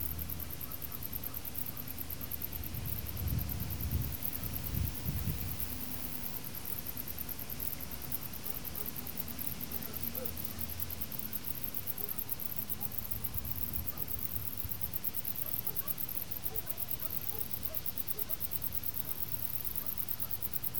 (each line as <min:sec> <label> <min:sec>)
0:00.0 panned crickets 0:20.7